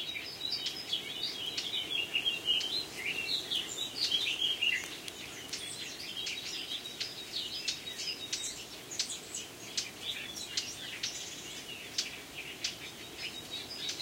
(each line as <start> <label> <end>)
0.0 blackcap 14.0